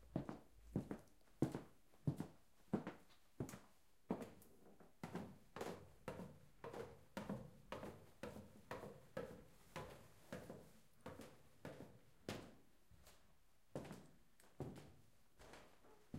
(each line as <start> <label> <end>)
0.0 Walking up and down the stairs 16.1
14.6 steps on wooden floor moving 16.1